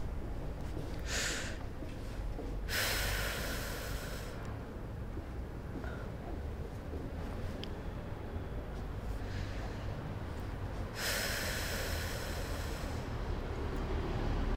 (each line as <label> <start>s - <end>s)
cigarette breathing exhalation smoke 1.0s - 1.6s
cigarette breathing exhalation smoke 2.7s - 4.4s
cigarette breathing exhalation smoke 11.0s - 13.0s